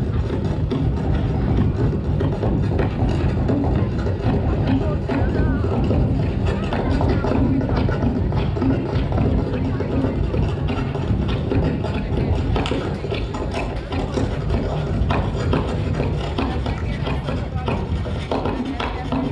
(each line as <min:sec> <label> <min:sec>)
0:00.0 french performance group 0:19.3